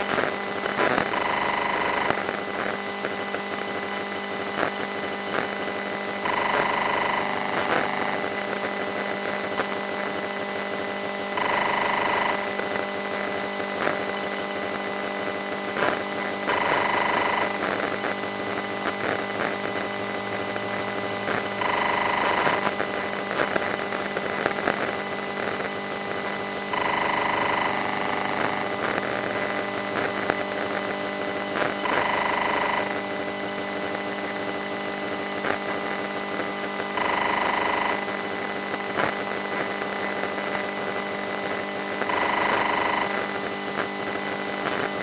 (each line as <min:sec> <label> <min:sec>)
0:00.0 Electromagnetic field recorded inside a gsm antenna machinery 0:45.0